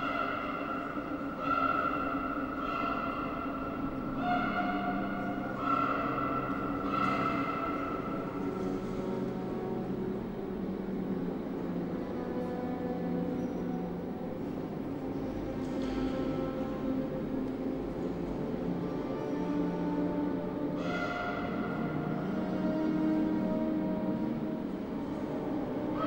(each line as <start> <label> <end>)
0.0 regular call of crows in the TV monitors 4.7
5.6 regular call of crows in the TV monitors 8.1